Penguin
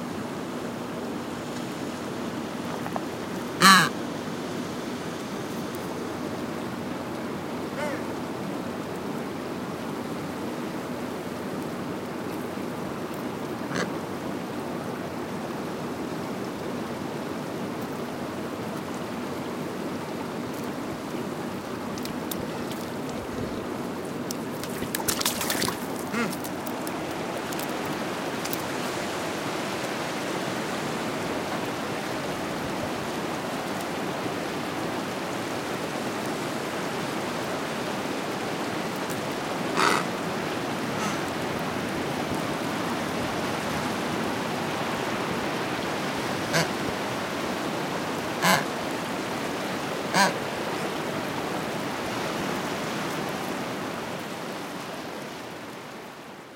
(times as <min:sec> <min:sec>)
0:03.6 0:03.9, 0:07.8 0:08.1, 0:24.6 0:26.5, 0:39.8 0:40.1, 0:48.4 0:48.7